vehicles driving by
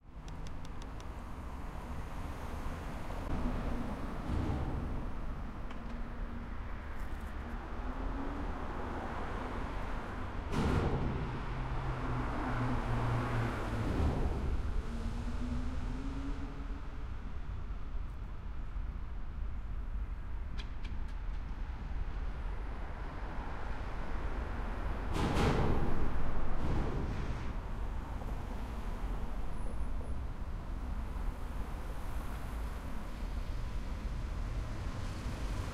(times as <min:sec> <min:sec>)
0:00.1 0:18.7